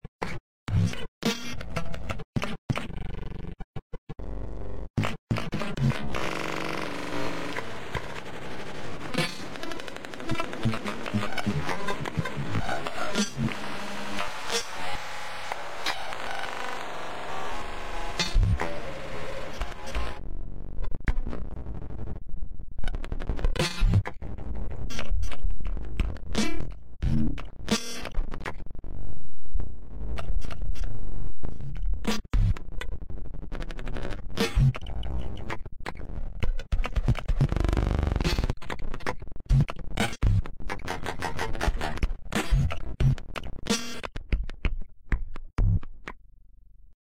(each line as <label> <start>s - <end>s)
bass 0.2s - 47.0s
snare 9.1s - 13.6s
snare 18.1s - 18.8s